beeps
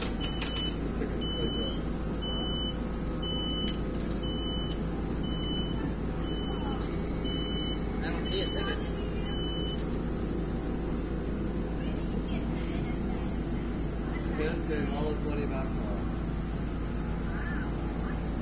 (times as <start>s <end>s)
0.2s 9.9s